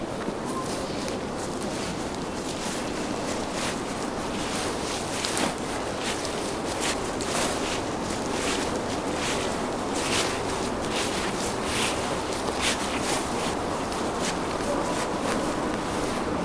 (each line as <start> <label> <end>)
0.0 persons walking slowly on grass 16.4